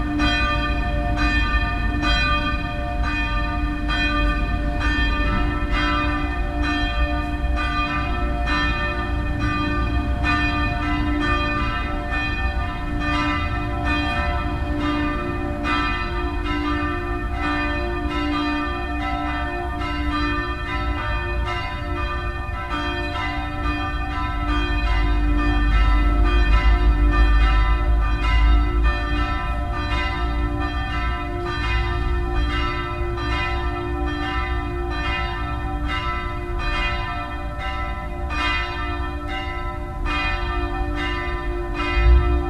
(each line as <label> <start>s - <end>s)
Church Bells 0.0s - 42.4s